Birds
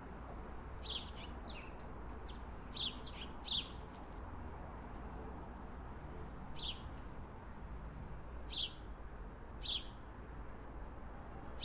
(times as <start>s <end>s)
0.8s 4.1s, 6.5s 7.0s, 8.5s 8.9s, 9.6s 10.0s